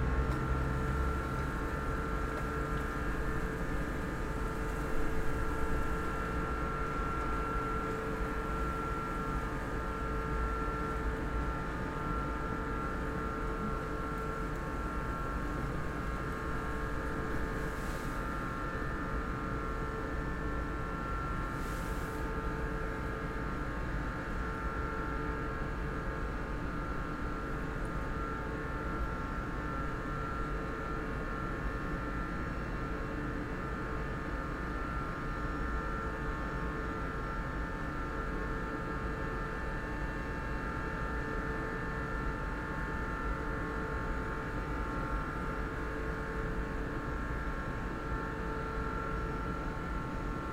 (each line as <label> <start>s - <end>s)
office building air conditioning 0.0s - 50.5s